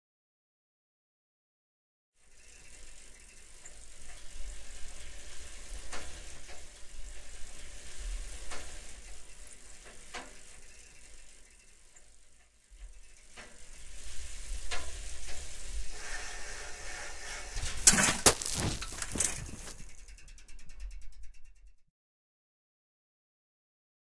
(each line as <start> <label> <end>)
17.2 pedaling 21.7
17.6 Bicycle falling down on dirt 20.1